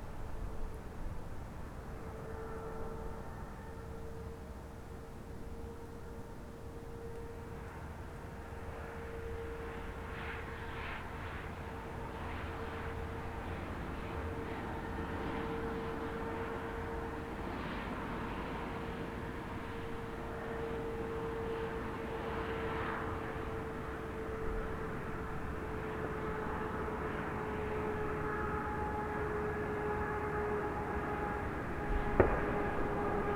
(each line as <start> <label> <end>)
6.7 distant traffic 33.3